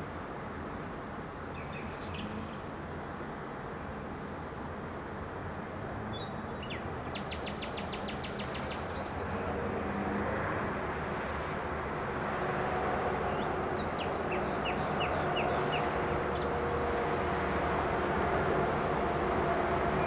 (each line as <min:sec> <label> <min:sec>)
0:00.0 traffic noise 0:20.0